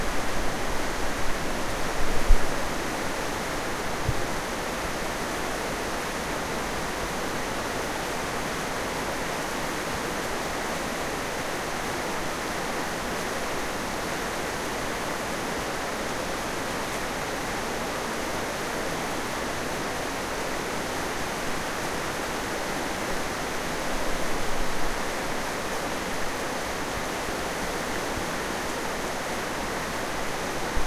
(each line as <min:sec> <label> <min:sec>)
0:00.0 River 0:30.8